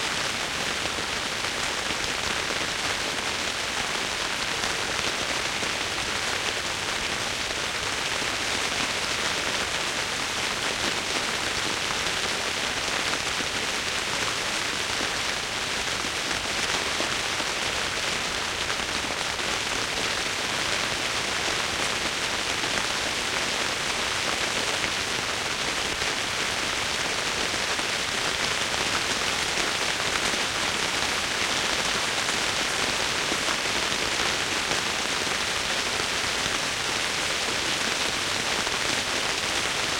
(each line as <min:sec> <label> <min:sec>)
0:00.0 Rain falling on the roof 0:39.9